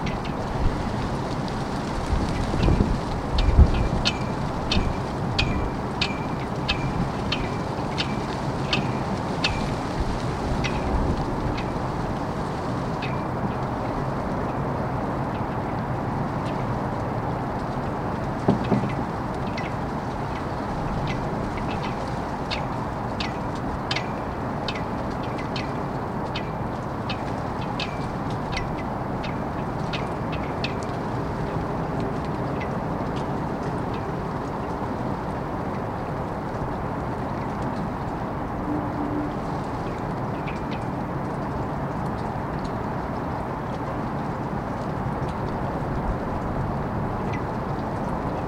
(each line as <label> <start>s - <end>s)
Flag Pole during wind 0.0s - 48.4s
rain 0.0s - 48.4s